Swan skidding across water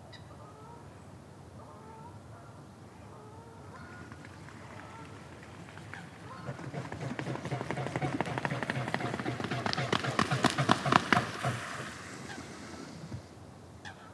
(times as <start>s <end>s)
3.7s 13.4s